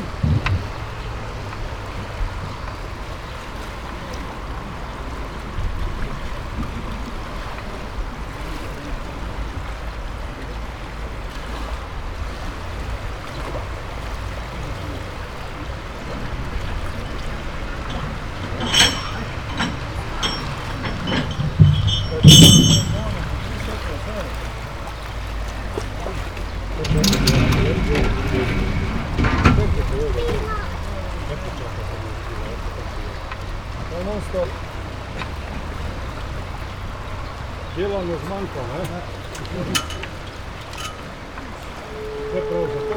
0.0s raft moves with flow of the river 42.9s

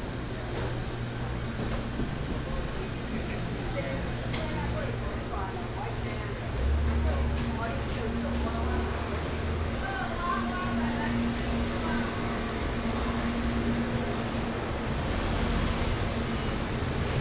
6.5s Traffic Sound 17.2s

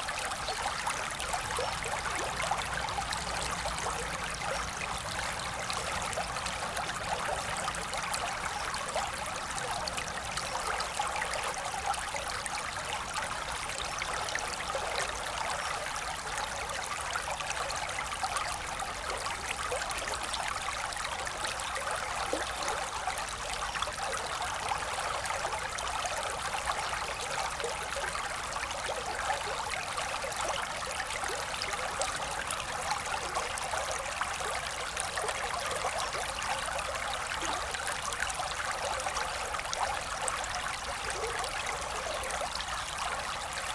0.0s river flowing quietly 43.7s

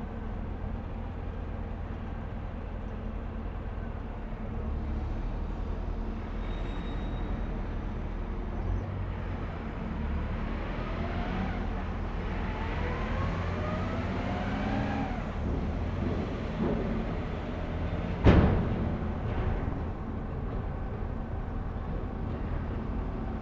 11.6s ferry docking and unloading 23.4s

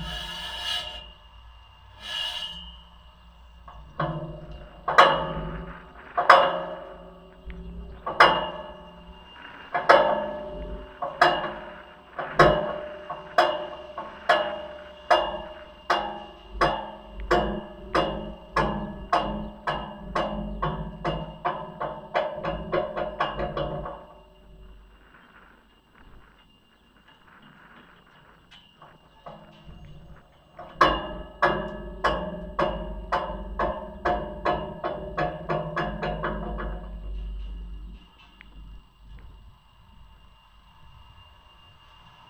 0.0s metallic revolving door 25.0s

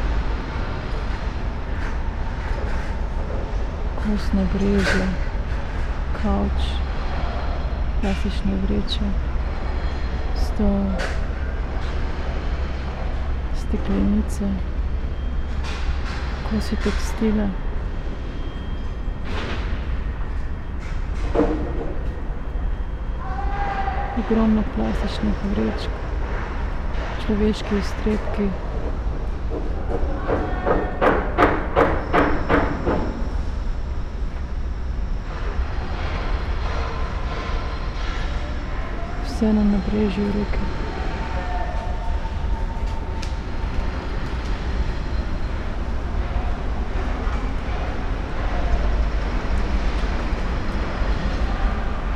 0.0s construction works 52.1s
4.0s spoken words 5.2s
13.6s spoken words 14.6s
24.2s spoken words 25.9s
27.2s spoken words 28.6s

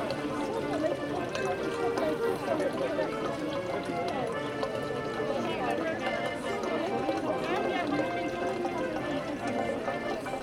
0.0s Fontanna 10.4s

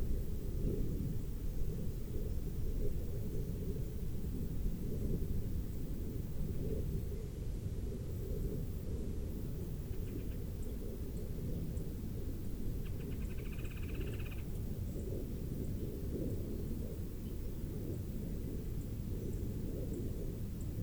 9.4s Insects 20.8s
9.6s Birds 20.8s

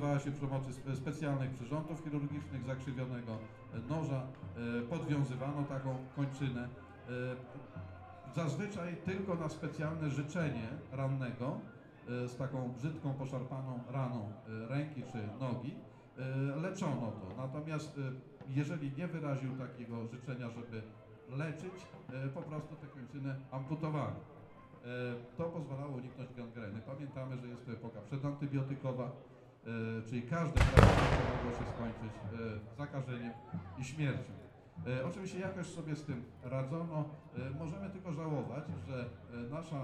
30.6s Battle 32.4s

